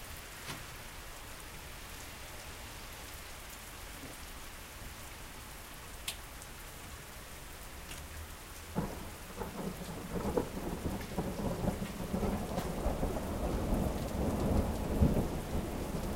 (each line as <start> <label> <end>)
0.0 Rain falling on streets 16.1
8.8 thunder 16.1